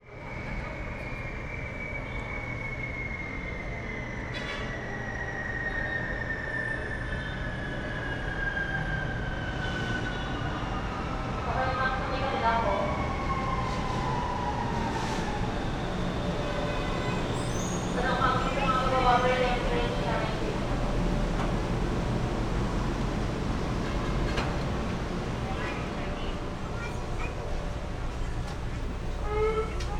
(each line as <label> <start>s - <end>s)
train ariving 0.2s - 29.9s
passengers chatting 10.4s - 29.9s
voices announcements 11.4s - 13.4s
police siren 12.5s - 24.6s
train doors opening and closing 13.0s - 29.9s
voices announcements 15.3s - 29.9s
children 23.7s - 29.9s